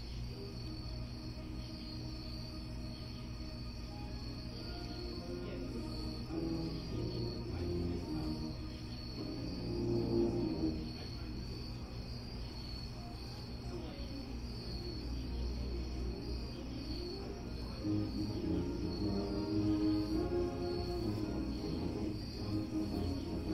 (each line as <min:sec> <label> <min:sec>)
0:04.6 Saxophones rehearsing 0:11.3
0:17.1 Saxophones rehearsing 0:23.5